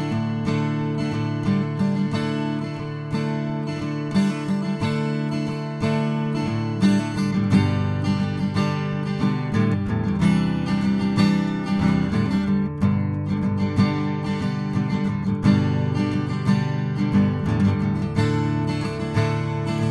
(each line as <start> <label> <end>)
0.0 guitar 19.9